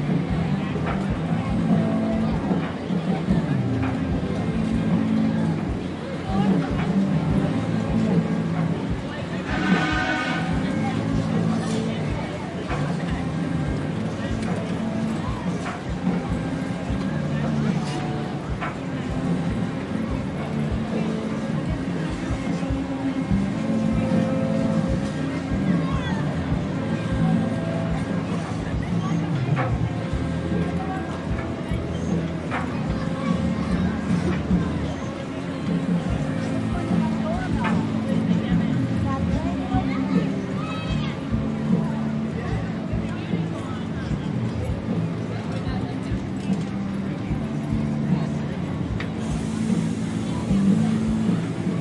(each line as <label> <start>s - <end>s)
compressed air pistons of a carnival ride 0.0s - 51.8s
crowd chatter 0.0s - 51.8s
generator hum 0.0s - 51.8s
whine of the ride's hydraulics 0.0s - 51.8s
band soundcheck 9.4s - 11.5s
loud air horn 9.5s - 10.7s